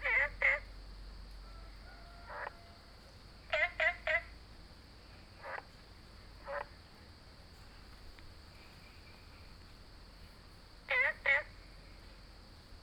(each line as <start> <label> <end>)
0.0 Frog chirping 0.7
3.5 Frog chirping 4.3
5.4 Frog chirping 5.7
6.4 Frog chirping 6.7
10.9 Frog chirping 11.6